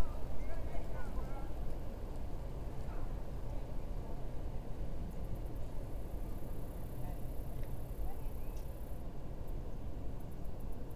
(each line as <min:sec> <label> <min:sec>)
0:00.0 people walking dogs 0:10.9
0:05.1 Insects 0:09.6